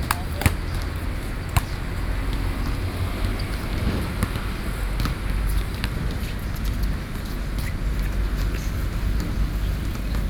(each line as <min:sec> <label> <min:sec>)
0:00.0 Traffic Sound 0:10.2